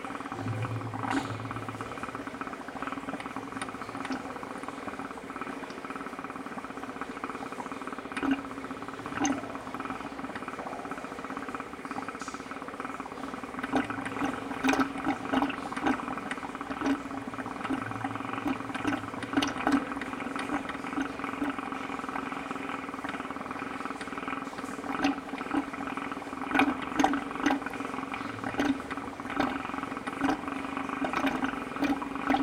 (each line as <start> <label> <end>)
0.0 Bubbles into a pipe 32.4